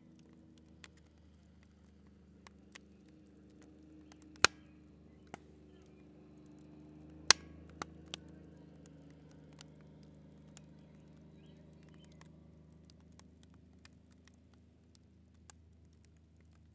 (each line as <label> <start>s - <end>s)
camp fire 0.0s - 16.7s